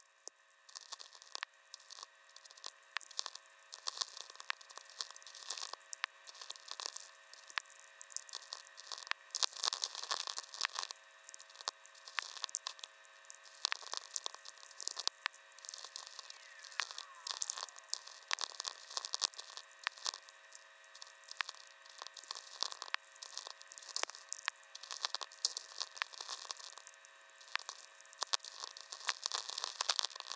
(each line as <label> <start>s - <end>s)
usual atmospherics 15.4s - 20.5s
tweaker 15.8s - 19.5s